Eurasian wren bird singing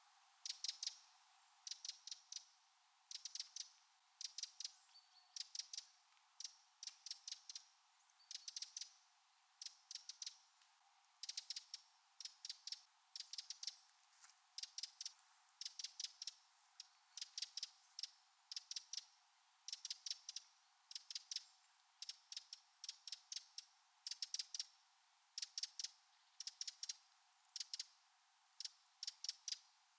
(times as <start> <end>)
3.1 9.0